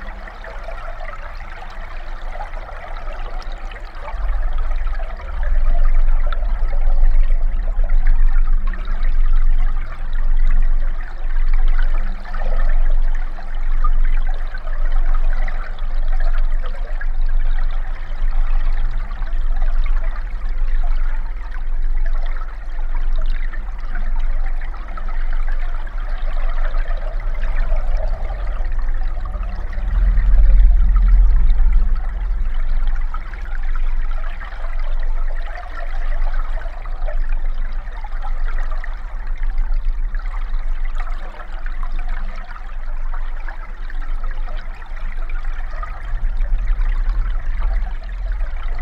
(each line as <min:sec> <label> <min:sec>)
0:00.0 flood 0:48.8